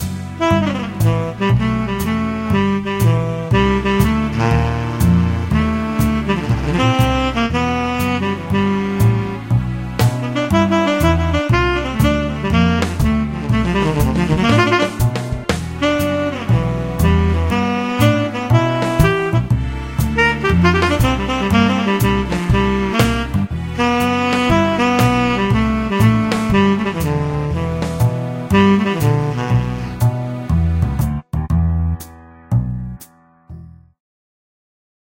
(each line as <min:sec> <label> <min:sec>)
0:00.0 Tenor Saxophone 0:30.9